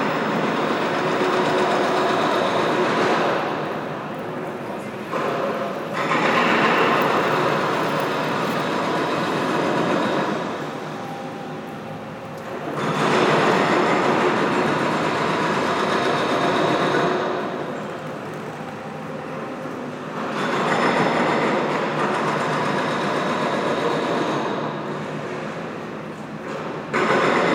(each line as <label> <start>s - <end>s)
Very heavy construction works 0.0s - 27.5s
a train is leaving the station 0.0s - 27.5s